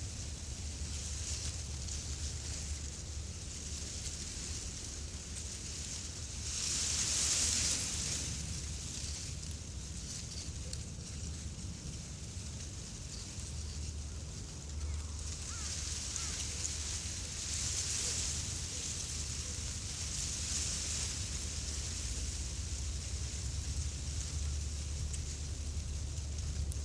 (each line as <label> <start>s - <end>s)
wind comes through the grass 0.0s - 26.8s